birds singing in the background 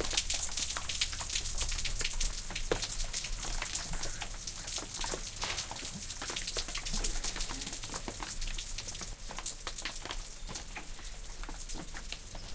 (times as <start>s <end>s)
10.2s 12.5s